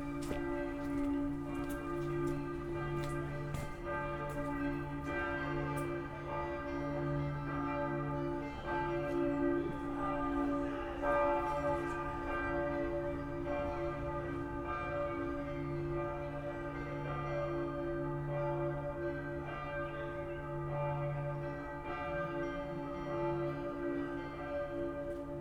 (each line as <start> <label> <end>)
0.0 walking 6.0
0.0 churchbells from the cathedral and others 25.4